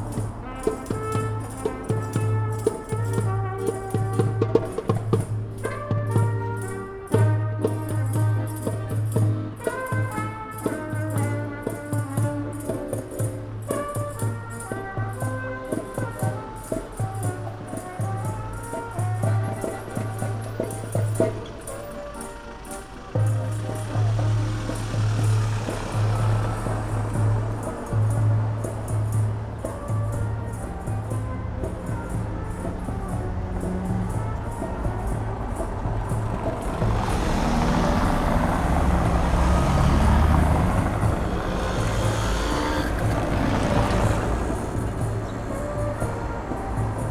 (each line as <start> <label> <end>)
0.0 musicians performing along the street 47.1